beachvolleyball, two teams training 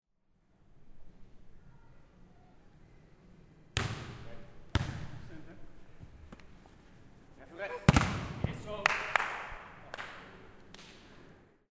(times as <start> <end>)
3.6 9.8